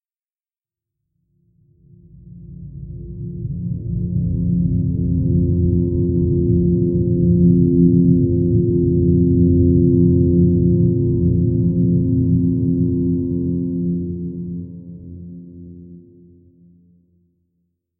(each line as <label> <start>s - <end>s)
Soft mellow pad 1.5s - 16.9s